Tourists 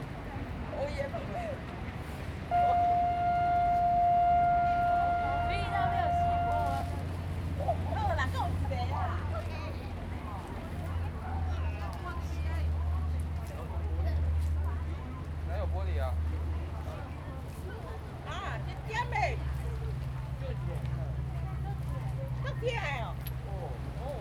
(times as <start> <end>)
2.2 15.5